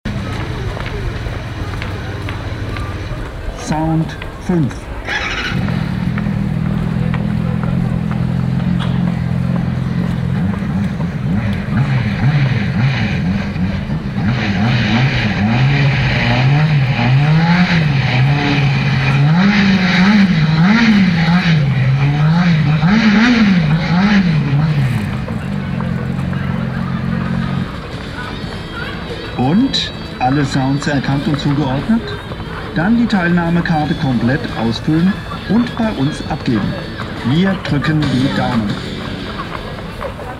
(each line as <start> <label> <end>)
0.0 motorradwerbung 40.3